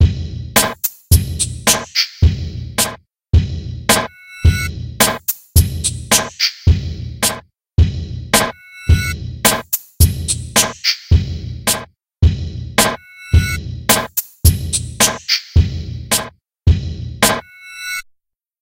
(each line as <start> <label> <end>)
0.0 bass 17.6
0.6 snare 3.0
3.9 snare 4.1
5.0 snare 7.4
8.4 snare 8.6
9.5 snare 9.9
10.5 snare 11.9
12.8 snare 13.0
13.9 snare 14.4
15.0 snare 16.4
17.2 snare 17.5